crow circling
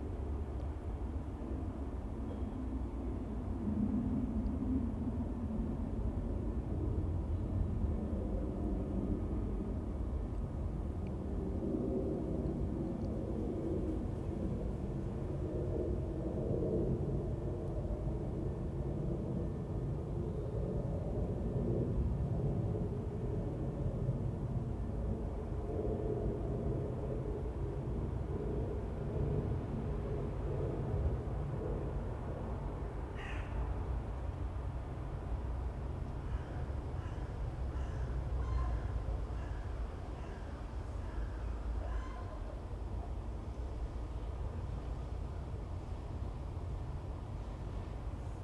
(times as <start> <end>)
33.2 33.7, 36.3 42.6